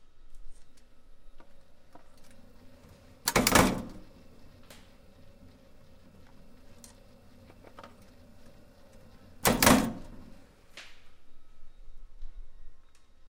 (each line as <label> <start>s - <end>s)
punch press, forming and crimping 1.4s - 10.5s